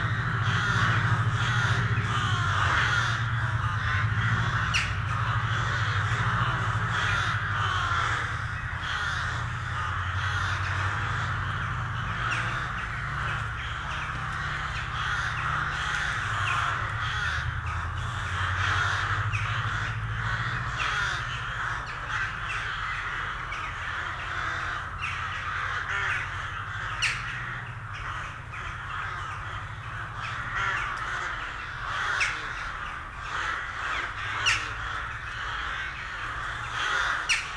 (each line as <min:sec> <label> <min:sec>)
0:00.0 crows colony 0:37.5